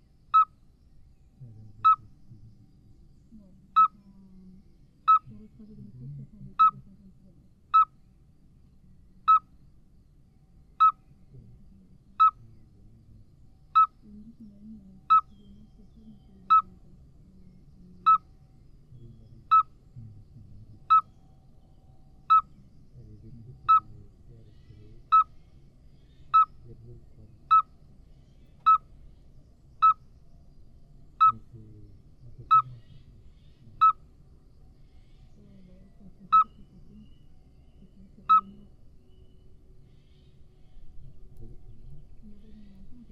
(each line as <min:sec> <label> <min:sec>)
0:00.0 Common midwife toad 0:00.6
0:01.4 people is speaking 0:02.6
0:01.4 Common midwife toad 0:08.1
0:05.2 people is speaking 0:07.5
0:08.9 Common midwife toad 0:09.6
0:10.8 Common midwife toad 0:18.4
0:11.3 people is speaking 0:13.2
0:14.0 people is speaking 0:18.2
0:18.9 people is speaking 0:21.0
0:19.0 Common midwife toad 0:21.2
0:22.2 Common midwife toad 0:27.8
0:23.0 people is speaking 0:25.2
0:26.6 people is speaking 0:27.6
0:28.5 Common midwife toad 0:28.9
0:29.8 Common midwife toad 0:30.1
0:31.1 Common midwife toad 0:34.1
0:31.2 people is speaking 0:33.9
0:34.9 Common midwife toad 0:40.4
0:35.4 people is speaking 0:37.2
0:37.8 people is speaking 0:38.7
0:41.4 people is speaking 0:43.1